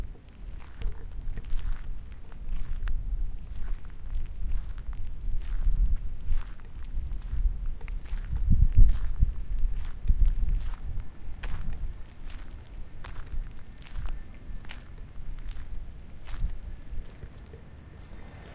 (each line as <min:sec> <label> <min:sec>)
0:00.0 Footsteps on the gravel 0:18.3
0:16.2 river 0:18.5